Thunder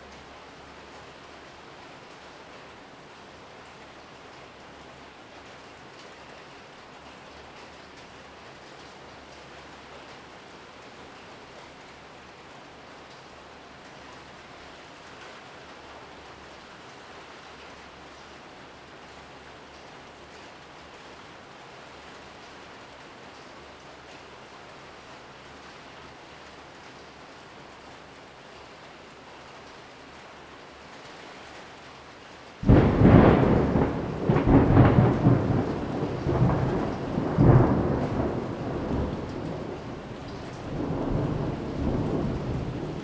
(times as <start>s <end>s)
32.6s 43.0s